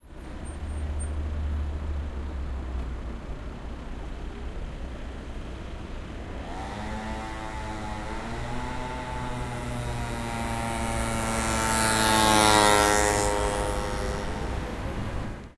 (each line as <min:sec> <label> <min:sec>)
0:00.0 Traffic 0:15.5
0:00.0 motorbike 0:15.5